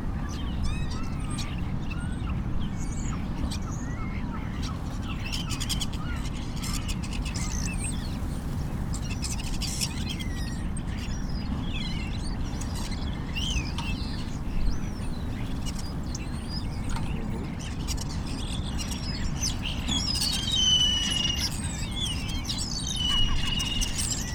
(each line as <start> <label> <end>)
0.2 Flocking starlings 24.3